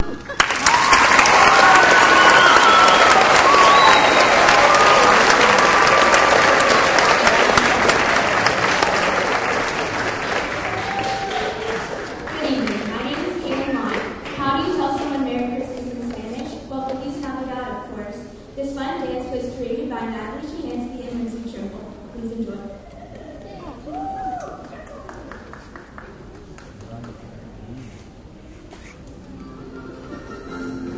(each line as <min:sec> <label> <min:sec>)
0:00.0 applause 0:15.2
0:24.6 applause 0:27.4